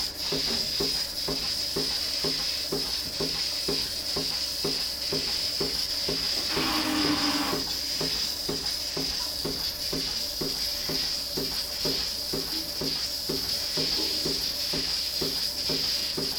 milking robot 0:06.3 - 0:07.7

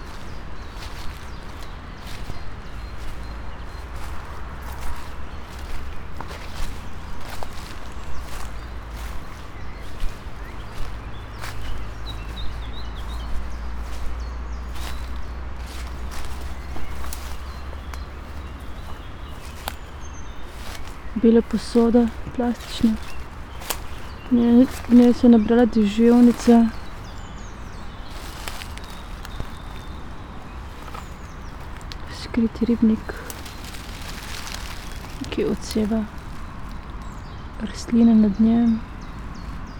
steps 0:00.0 - 0:37.1
words 0:21.1 - 0:23.1
words 0:24.3 - 0:26.8
words 0:32.1 - 0:33.4
words 0:35.2 - 0:36.2
words 0:37.6 - 0:38.8

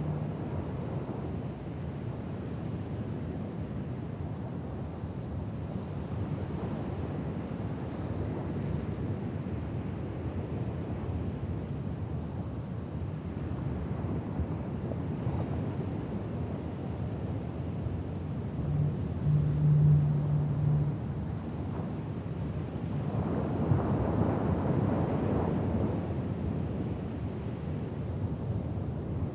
waves bearing down on the beach 0:00.0 - 0:29.3
wind blowing over a beer bottle buried in the sand 0:05.6 - 0:12.0
tiny insect buzzing around 0:07.9 - 0:09.9
wind blowing over a beer bottle buried in the sand 0:13.4 - 0:29.3

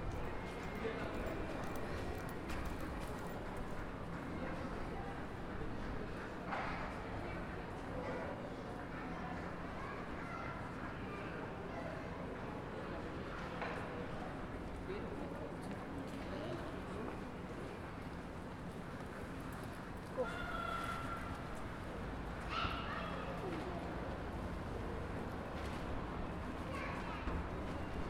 traffic noise 0:00.0 - 0:08.0
footsteps/other sounds from pedestrians 0:00.0 - 0:28.0
traffic noise 0:12.6 - 0:28.0

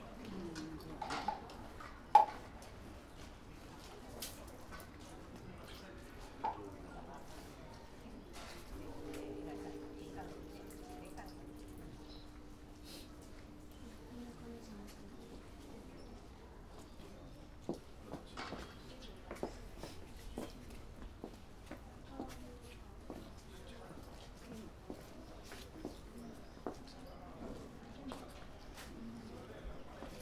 ringing a bell 0:08.8 - 0:14.7
splashing a holly statue with water 0:08.8 - 0:14.0

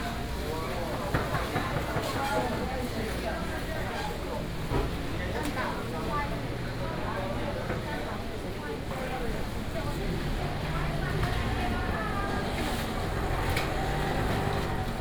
vendors peddling 0:09.8 - 0:15.0

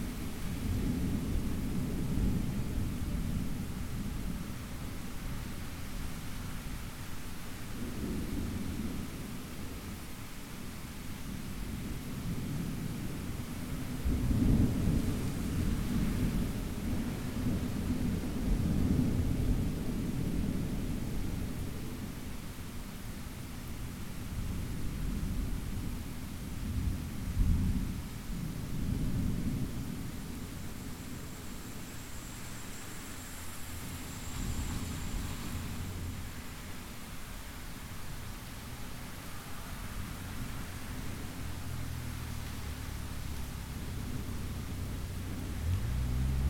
Rainy 0:00.0 - 0:46.4
windy 0:00.0 - 0:46.4
traffic on wet pavement 0:11.6 - 0:21.9
rolling thunder 0:11.7 - 0:21.6
traffic on wet pavement 0:29.8 - 0:46.4

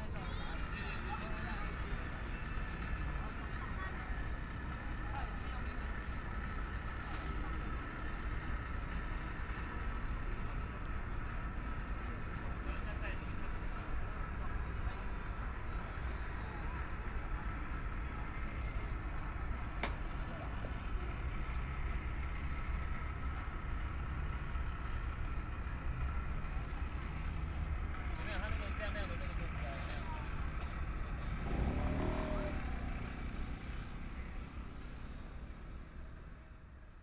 crowd 0:00.0 - 0:24.6
crowd 0:25.2 - 0:37.0

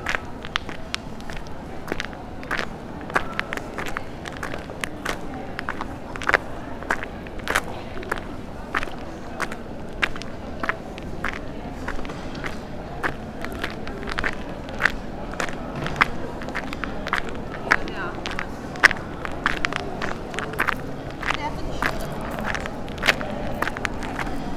people talking 0:00.0 - 0:24.5
gravel path 0:00.0 - 0:24.5

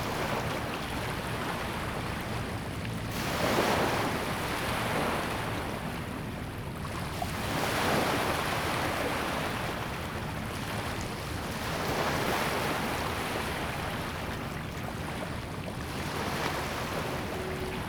Sound tide 0:14.1 - 0:17.8

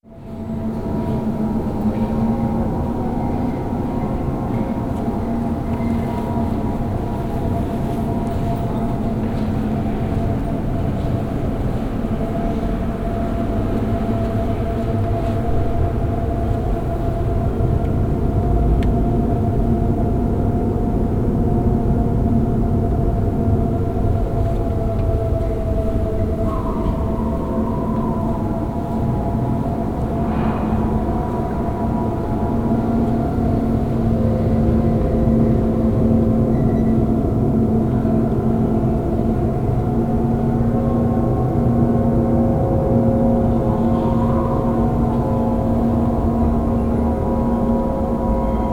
wind in elevator tubes 0:00.1 - 0:48.7

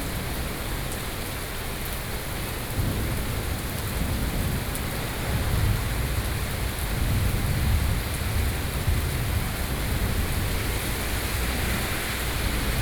Thunderstorm 0:02.7 - 0:12.8
Traffic Noise 0:08.9 - 0:12.8

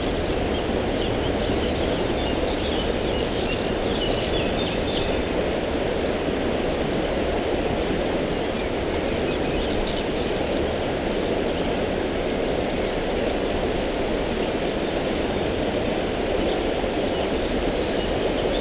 birds singing 0:00.0 - 0:06.1
River soča 0:00.0 - 0:18.6
birds singing 0:06.8 - 0:11.7

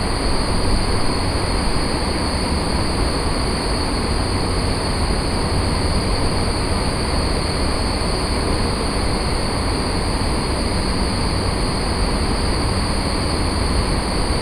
Air Conditioning 0:00.0 - 0:14.4

